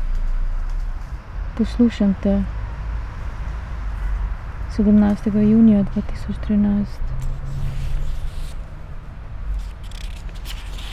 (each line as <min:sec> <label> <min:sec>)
0:04.7 reading poem 0:10.9